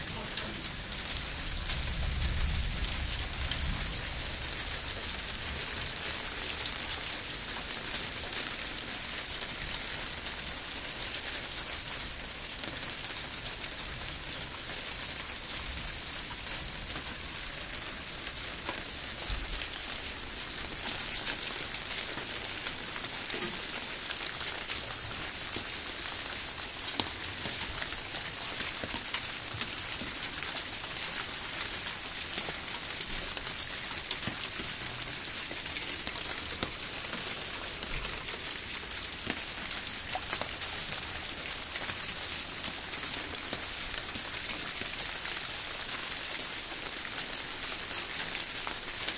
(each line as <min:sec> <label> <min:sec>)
0:00.0 Rain is falling down on the large kiwi-leafs and the sunscreen 0:49.1
0:00.0 Water is flowing down the drain in to the tub 0:49.1